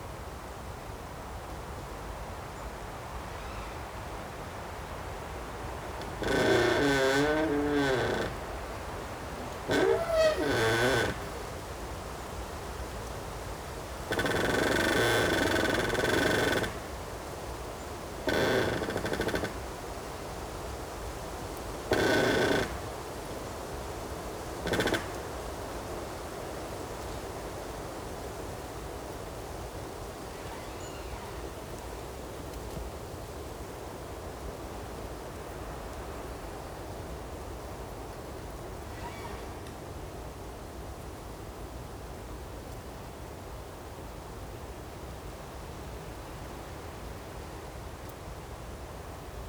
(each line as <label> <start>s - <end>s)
Creaking tree 1 internal and external 5.8s - 11.7s
Creaking tree 1 internal and external 14.1s - 17.0s
Creaking tree 1 internal and external 18.2s - 19.7s
Creaking tree 1 internal and external 21.9s - 23.0s
Creaking tree 1 internal and external 24.6s - 25.3s
Creaking tree 1 internal and external 30.2s - 32.0s
Creaking tree 1 internal and external 38.7s - 40.0s